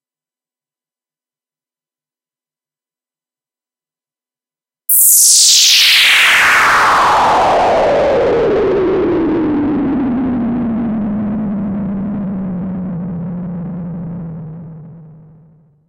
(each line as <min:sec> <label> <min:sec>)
0:04.9 bleeps and sweeps 0:08.1